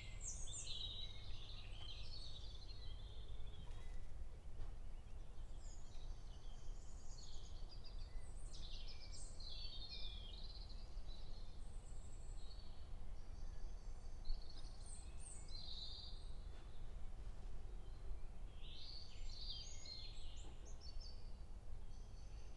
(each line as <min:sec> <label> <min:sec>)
0:00.0 Bird singing 0:17.0
0:17.7 Bird singing 0:22.5